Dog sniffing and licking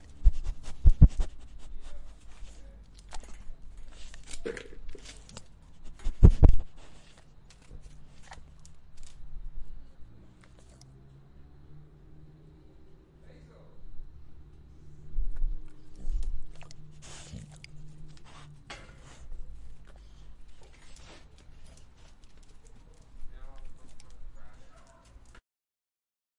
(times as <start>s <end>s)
0.0s 8.7s, 15.3s 25.4s